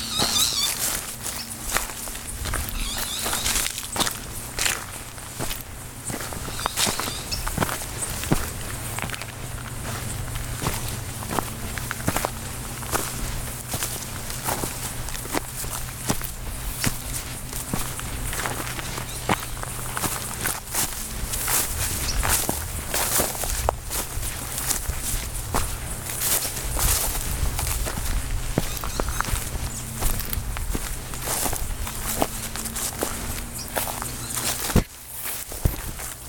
Walking on the grove herb field 0:00.0 - 0:36.2

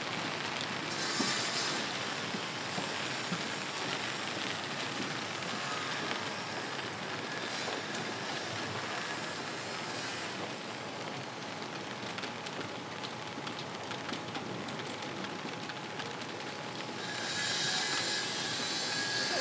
Rain drops 0:00.0 - 0:19.4
far away construction sounds 0:14.9 - 0:19.4

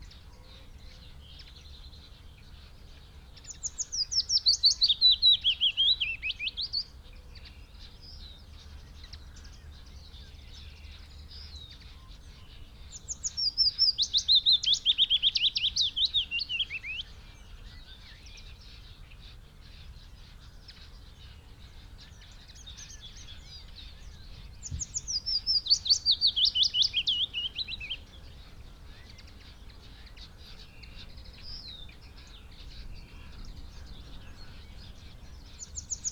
blackbird 0:00.0 - 0:36.1
pheasant 0:00.0 - 0:36.1
willow warbler song 0:00.0 - 0:36.1
red-legged partridge 0:19.8 - 0:36.1

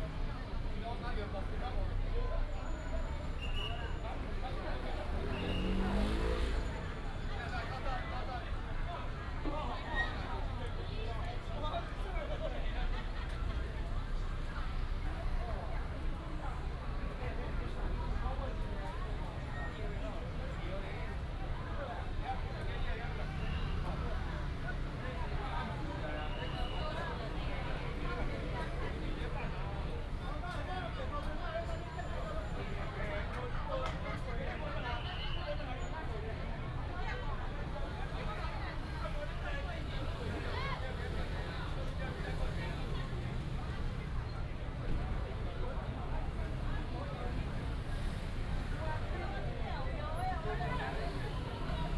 Traffic sound 0:00.0 - 0:51.9

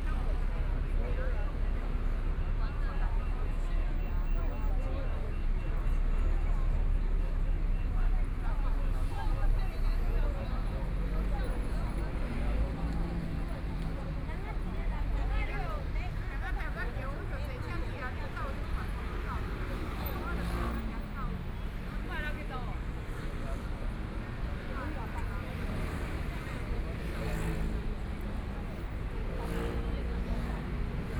Traffic Sound 0:00.0 - 0:31.1
crowd waiting to cross the road 0:00.0 - 0:31.1

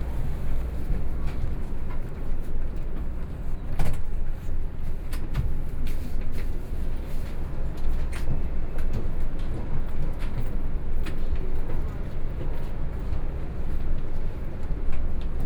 Train arrived 0:00.0 - 0:03.8

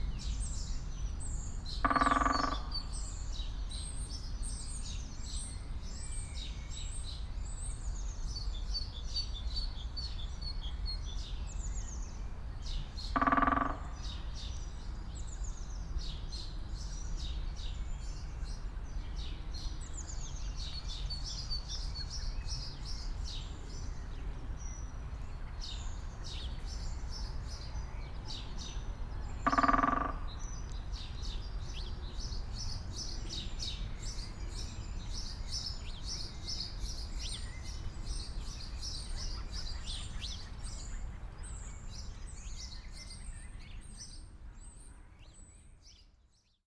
woodpecker performing 0:01.8 - 0:02.7
woodpecker performing 0:13.2 - 0:14.0
woodpecker performing 0:29.4 - 0:30.3

